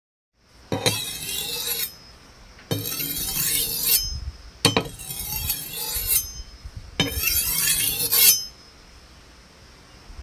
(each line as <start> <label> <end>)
0.7 sharpening of a kitchen knife 2.0
2.7 sharpening of a kitchen knife 8.6